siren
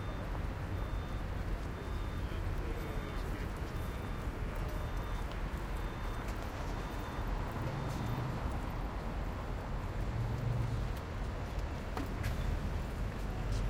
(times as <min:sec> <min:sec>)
0:00.0 0:08.5